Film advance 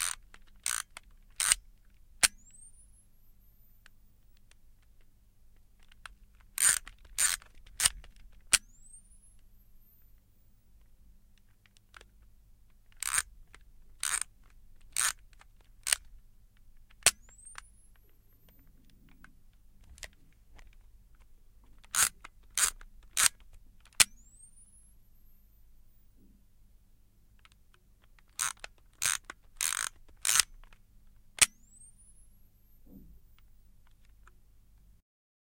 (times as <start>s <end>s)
0.0s 1.6s, 5.8s 10.2s, 12.9s 16.1s, 16.9s 18.7s, 21.8s 25.6s, 28.2s 30.8s, 31.4s 33.5s